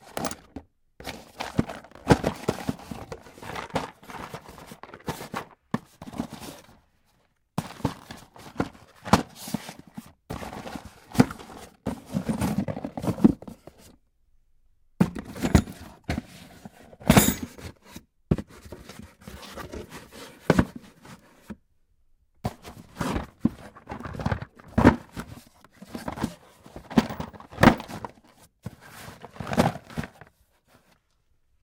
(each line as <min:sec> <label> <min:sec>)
0:17.1 searching through junk for keys rattle1 0:17.6